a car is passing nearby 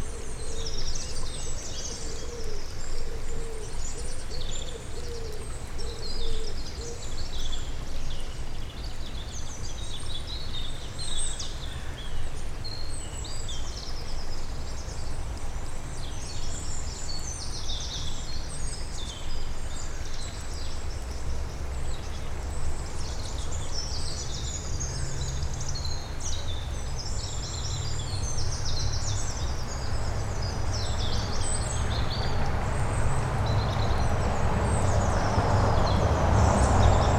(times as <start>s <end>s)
27.5s 37.1s